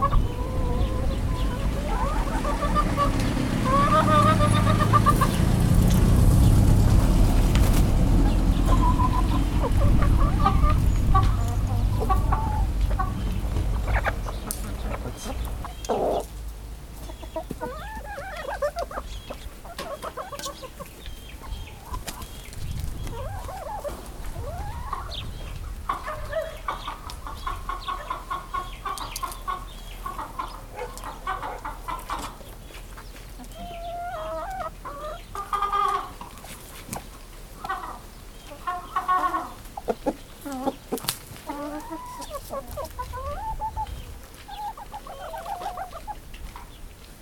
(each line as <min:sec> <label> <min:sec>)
0:00.0 Chickens inside a Chicken Pen 0:47.2